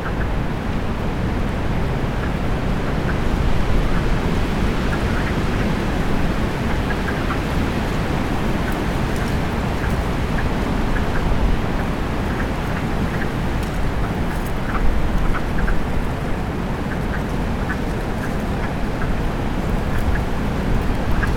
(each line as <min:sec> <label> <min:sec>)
0:00.0 wind in the leafless trees 0:21.3
0:16.9 wood frogs 0:21.3